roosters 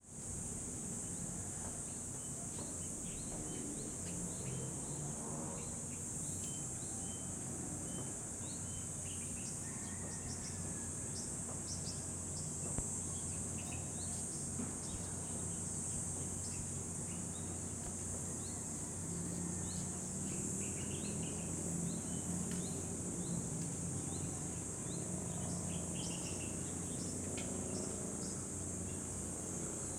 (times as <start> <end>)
1.2 12.9, 17.2 24.2